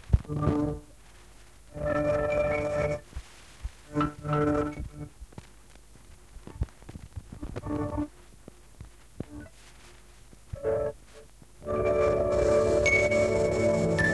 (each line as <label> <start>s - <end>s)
cassette 0.0s - 14.1s